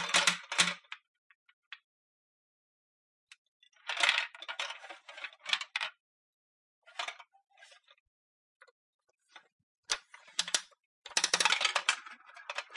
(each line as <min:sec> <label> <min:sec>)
0:07.2 Using a bubblegum machine in various ways 0:12.7